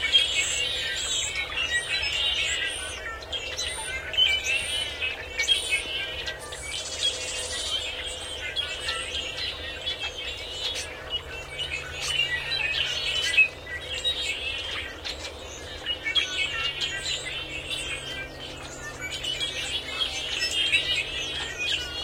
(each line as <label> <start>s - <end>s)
blackbirds 0.0s - 22.0s